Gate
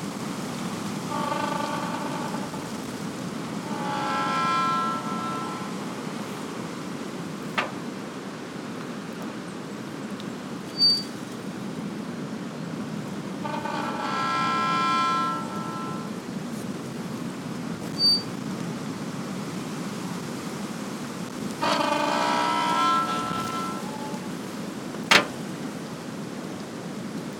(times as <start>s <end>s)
0.9s 8.1s, 10.8s 11.2s, 13.2s 16.2s, 21.4s 25.7s